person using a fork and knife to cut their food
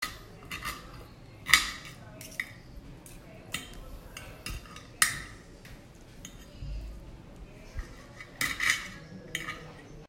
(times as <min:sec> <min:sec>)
0:00.0 0:05.4, 0:07.7 0:10.0